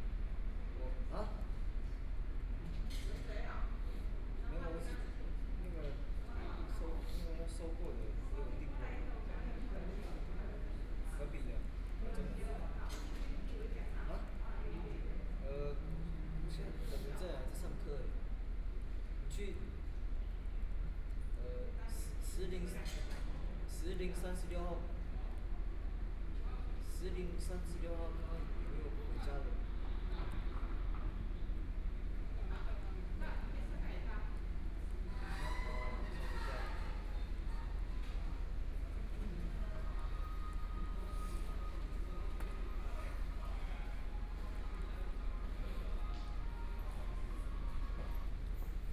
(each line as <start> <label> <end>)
1.0 Dialogue among high school students 48.8